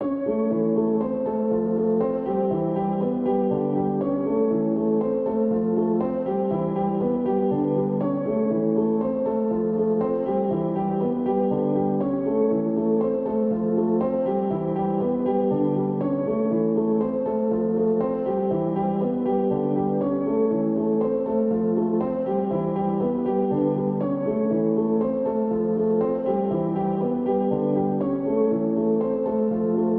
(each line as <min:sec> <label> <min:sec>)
0:00.0 piano 0:29.9